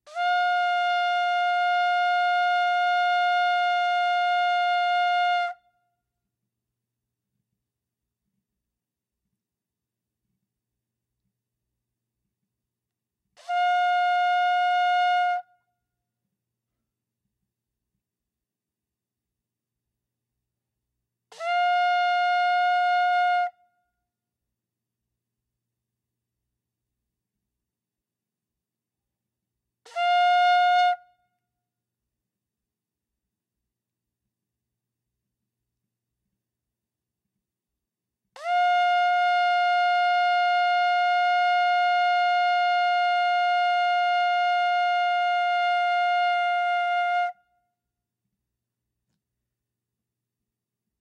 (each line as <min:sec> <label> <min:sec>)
0:00.1 ram's horn shofar being sounded 0:05.7
0:13.4 ram's horn shofar being sounded 0:15.5
0:21.3 ram's horn shofar being sounded 0:23.6
0:29.8 ram's horn shofar being sounded 0:31.2
0:38.4 ram's horn shofar being sounded 0:47.5